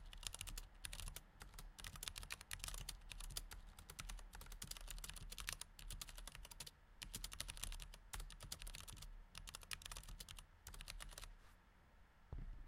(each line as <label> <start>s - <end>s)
Mechanical Keyboard Typing 0.0s - 11.3s